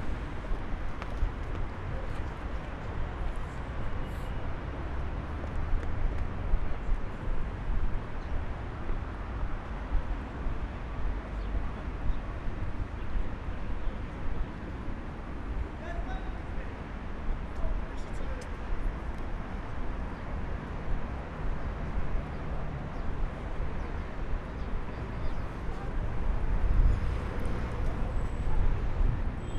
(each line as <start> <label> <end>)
0.0 traffic 29.5